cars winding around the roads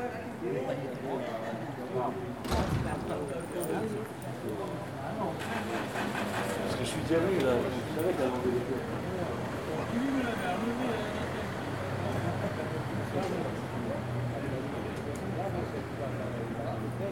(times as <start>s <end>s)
4.7s 17.1s